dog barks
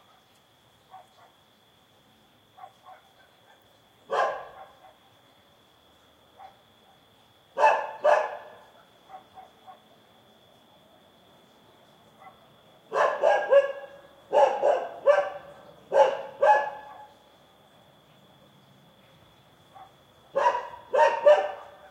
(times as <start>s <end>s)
0.9s 1.4s, 2.6s 5.1s, 6.3s 7.0s, 7.6s 9.9s, 12.2s 17.2s, 19.7s 21.9s